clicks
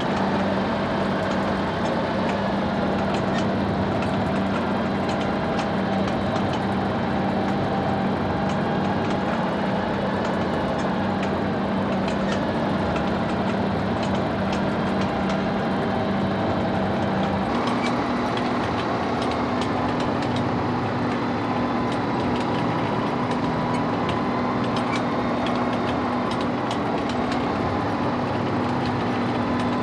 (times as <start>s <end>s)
17.0s 29.8s